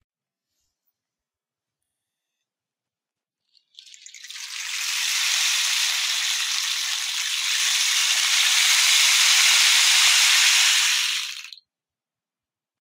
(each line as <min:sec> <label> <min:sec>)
0:03.4 rainstick 0:11.6